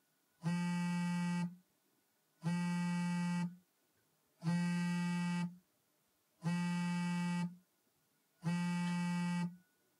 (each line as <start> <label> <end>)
0.4 Cell phone vibrate, on table hard surface 1.6
2.4 Cell phone vibrate, on table hard surface 3.6
4.4 Cell phone vibrate, on table hard surface 5.6
6.4 Cell phone vibrate, on table hard surface 7.6
8.4 Cell phone vibrate, on table hard surface 9.7